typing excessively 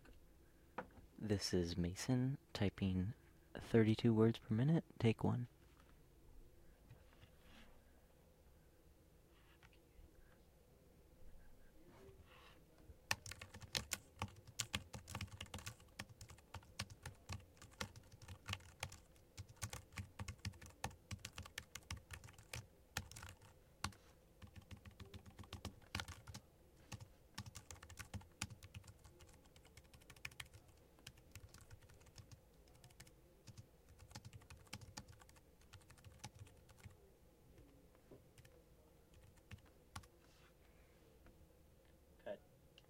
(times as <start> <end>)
13.1 36.9